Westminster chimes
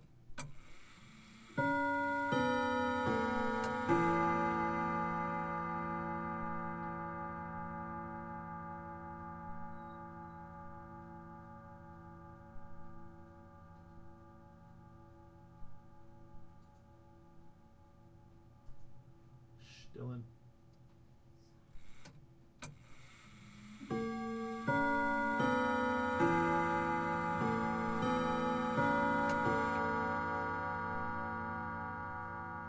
1.6s 15.4s, 23.9s 32.6s

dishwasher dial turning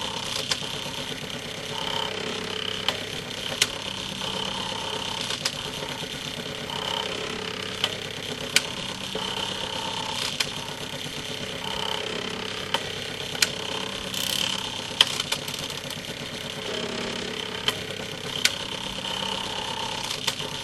14.1s 14.6s

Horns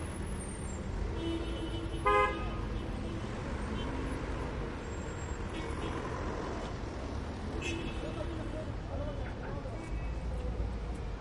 1.2s 2.4s

